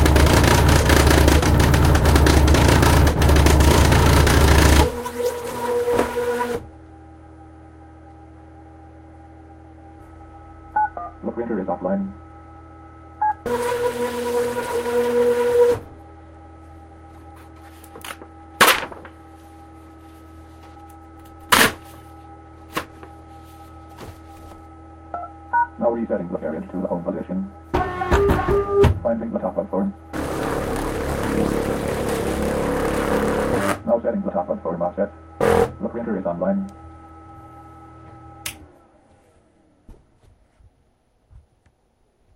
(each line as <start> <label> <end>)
35.4 braille embossing job with braille embosser 35.8